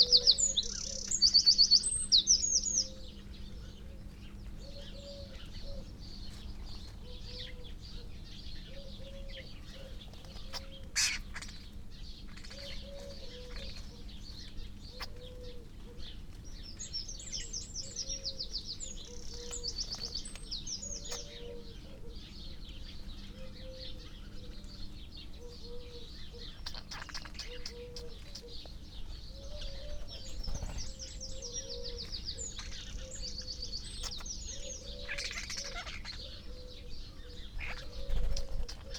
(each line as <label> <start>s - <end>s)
collared dove 0.0s - 1.2s
background noise from traffic 0.0s - 38.9s
dry rolling and rippling calls and song from the starlings 0.0s - 38.9s
collared dove 2.2s - 38.9s
wood pigeon 3.7s - 11.8s
magpie 10.4s - 11.6s
crow 10.4s - 11.6s
wood pigeon 12.4s - 16.4s
wren 17.8s - 22.2s
wood pigeon 23.2s - 38.9s
crow 25.4s - 28.6s
wren 25.4s - 28.7s
magpie 25.7s - 28.6s
wren 29.3s - 38.9s
crow 34.0s - 36.9s
crow 37.6s - 38.9s